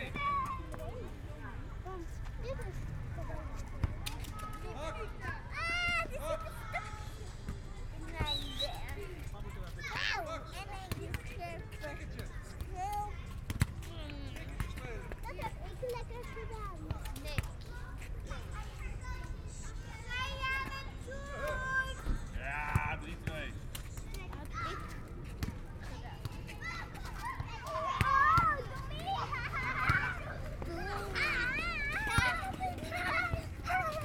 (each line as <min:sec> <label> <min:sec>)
0:00.0 Children playing 0:22.4
0:23.9 Children playing 0:34.0